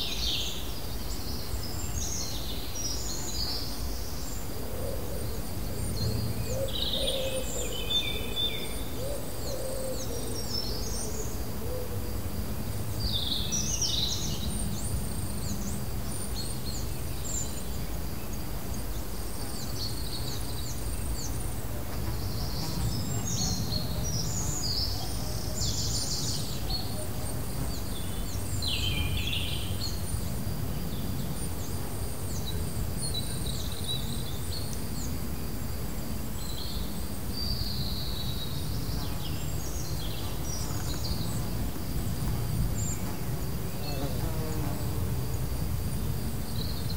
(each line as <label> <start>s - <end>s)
birds 0.0s - 46.9s